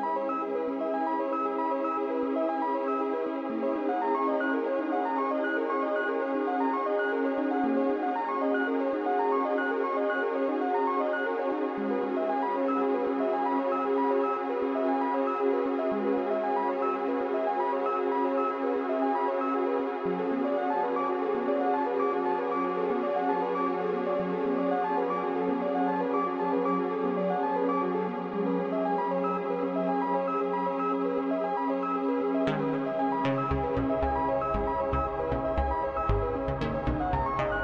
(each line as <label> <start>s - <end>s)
Slow ethereal sequencer music fragment 32.5s - 37.6s